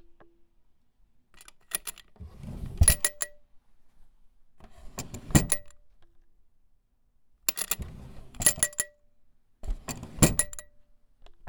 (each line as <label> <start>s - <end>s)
drawer 1.8s - 3.3s
drawer 4.7s - 5.7s
drawer 7.6s - 8.8s
drawer 9.6s - 10.7s